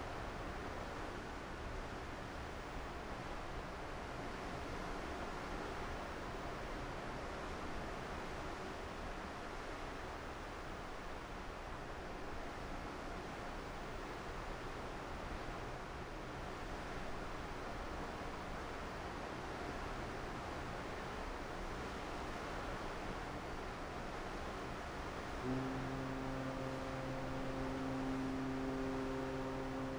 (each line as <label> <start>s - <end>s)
Multiple foghorns 25.4s - 29.9s